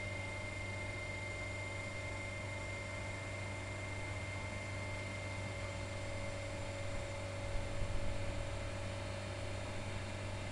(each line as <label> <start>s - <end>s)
Noise of warehouse fan 0.0s - 10.5s